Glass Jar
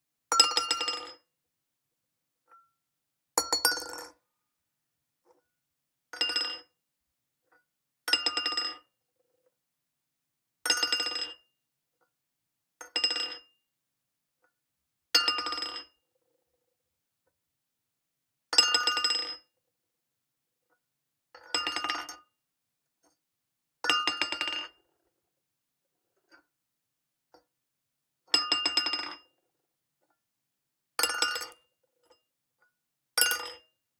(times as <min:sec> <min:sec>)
0:31.0 0:32.2, 0:33.2 0:33.6